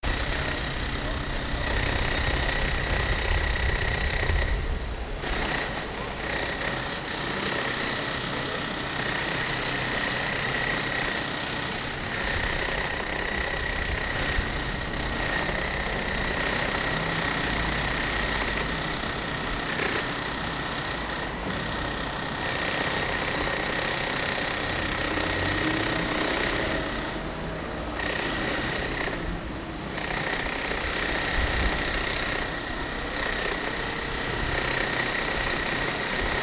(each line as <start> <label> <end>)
0.0 workers lift with electric chisels clinker from the facade 36.4